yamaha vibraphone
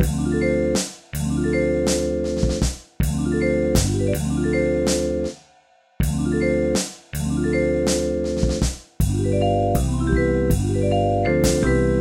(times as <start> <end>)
7.4 12.0